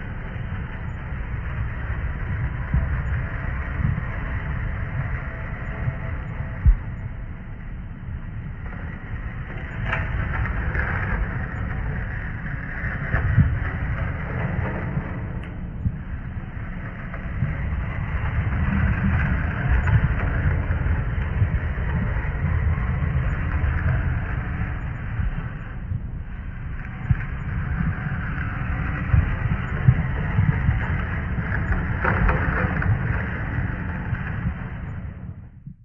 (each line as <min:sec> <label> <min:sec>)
0:00.0 rumble 0:35.8